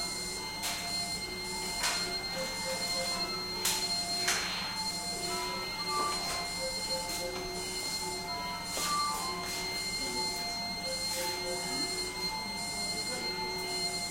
beeps 0.0 - 14.1

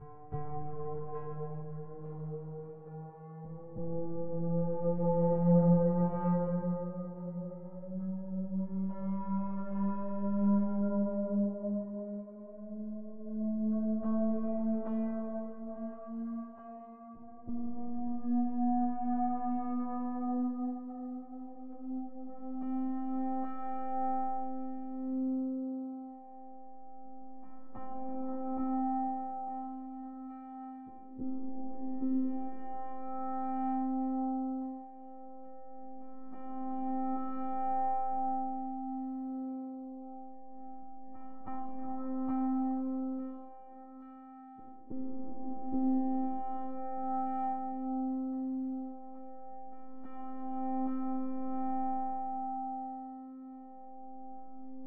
music 0.0 - 54.8

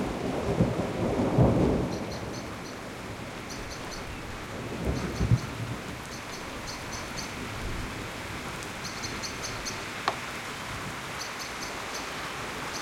thunder 0.0 - 2.6
rain 0.0 - 12.8
wind 0.0 - 12.8
birds singing 1.9 - 2.8
birds singing 3.4 - 7.4
birds singing 8.8 - 9.9
birds singing 11.2 - 12.8

